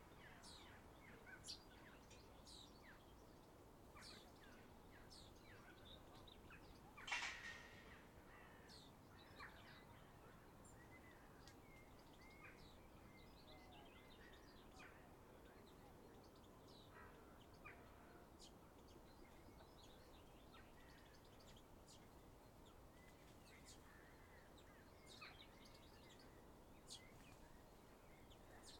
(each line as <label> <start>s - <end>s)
Light wind gently rustling the leaves of the trees 0.0s - 28.7s
birdsong 0.0s - 28.7s